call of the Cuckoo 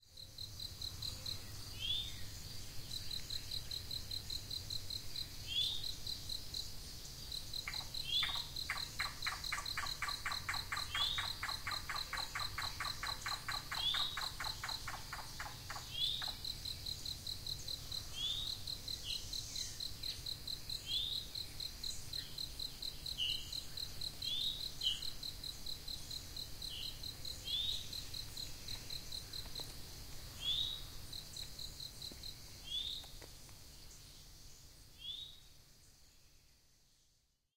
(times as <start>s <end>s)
7.6s 16.4s